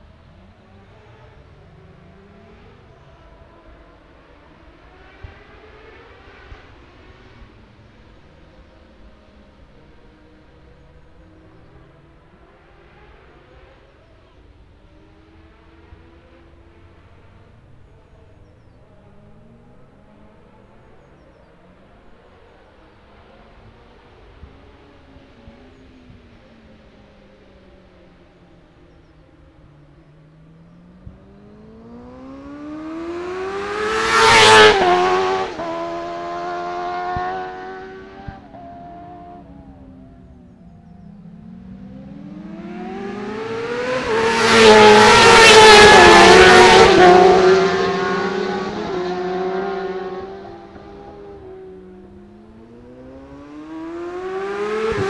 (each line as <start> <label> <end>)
0.0 motorcycle road racing 55.0